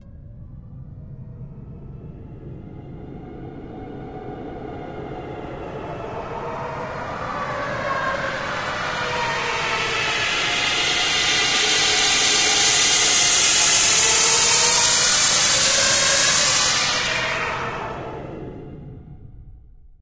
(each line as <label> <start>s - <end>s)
White noise sweep 3.3s - 18.9s